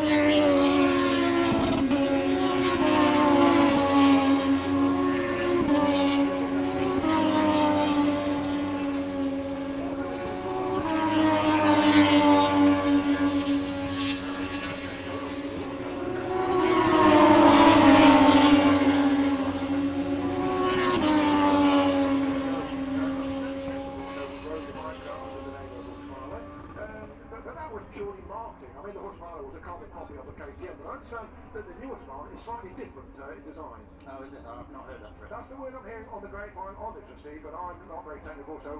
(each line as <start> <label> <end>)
0.0 motor cycle grand prix 38.7
21.1 commentary 38.7